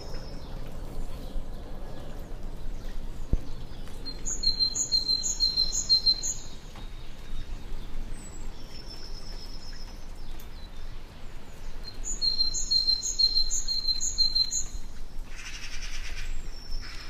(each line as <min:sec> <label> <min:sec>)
0:00.0 flying airplane 0:04.0
0:03.3 singing birds 0:11.0
0:11.6 singing birds 0:14.9